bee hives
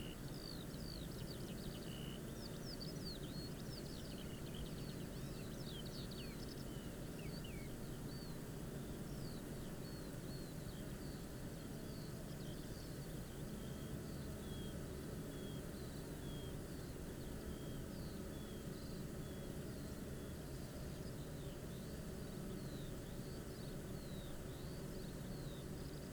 6.9 26.1

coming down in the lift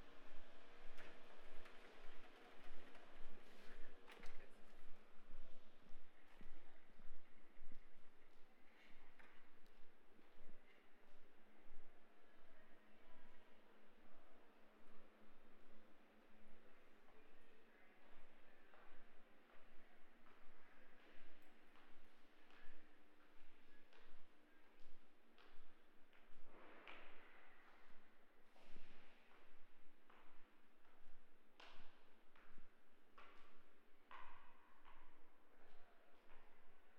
0.0 6.9

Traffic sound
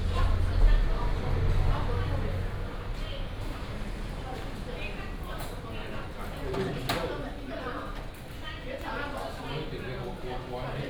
0.0 6.0

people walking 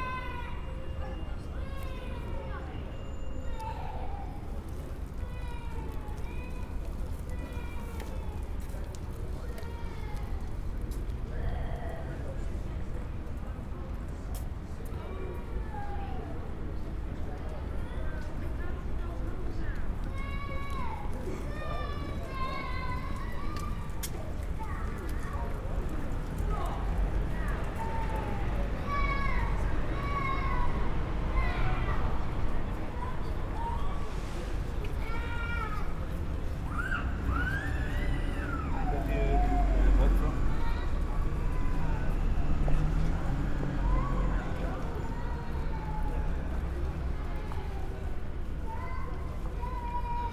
19.3 50.1

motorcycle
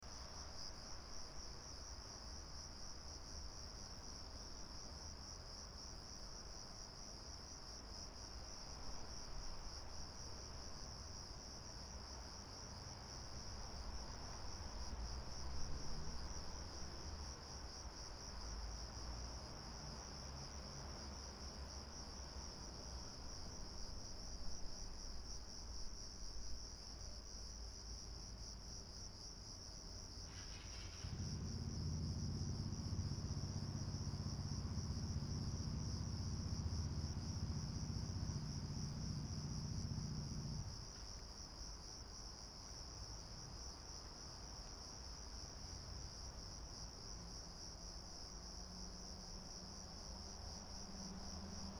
30.3 40.8

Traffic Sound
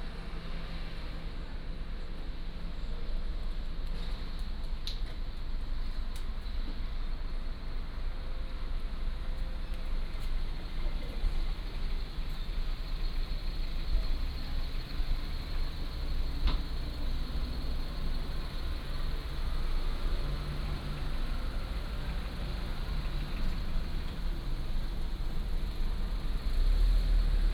7.8 27.5

